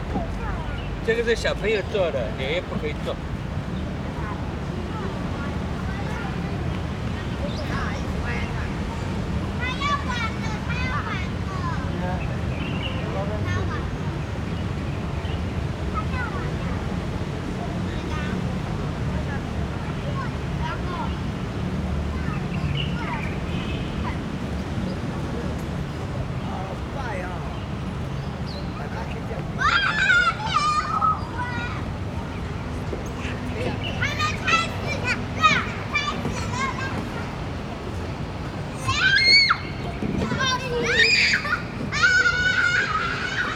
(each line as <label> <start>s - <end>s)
Traffic Sound 0.0s - 43.5s
Birds singing 0.4s - 4.0s
Birds singing 11.6s - 15.8s
Birds singing 22.2s - 43.5s